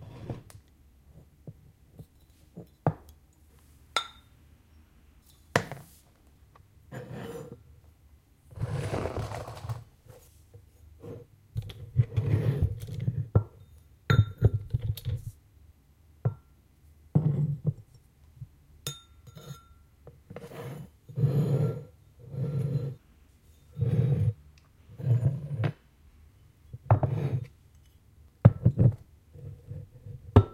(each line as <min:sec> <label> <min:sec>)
0:06.9 scraping the Ceramic bowl with a metal Spoon 0:07.6
0:08.6 sliding over wooden table 0:09.9
0:12.0 scraping the Ceramic bowl with a metal Spoon 0:13.7
0:17.2 scraping the Ceramic bowl with a metal Spoon 0:17.7
0:18.9 scraping the Ceramic bowl with a metal Spoon 0:25.6
0:23.8 sliding over wooden table 0:24.4
0:26.9 scraping the Ceramic bowl with a metal Spoon 0:28.0